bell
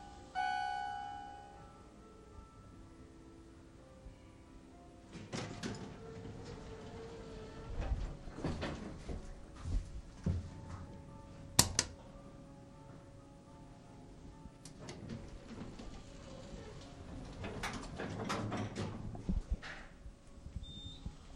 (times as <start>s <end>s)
0.0s 2.6s